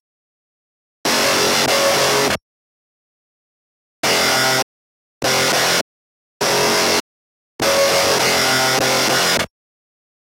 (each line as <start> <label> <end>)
1.1 distorted guitar 2.4
4.0 distorted guitar 5.8
6.4 distorted guitar 7.0
7.6 distorted guitar 9.5